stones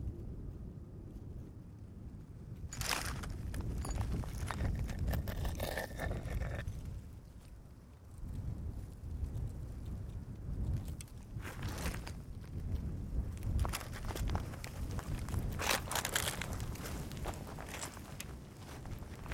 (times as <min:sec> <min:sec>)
0:02.7 0:06.7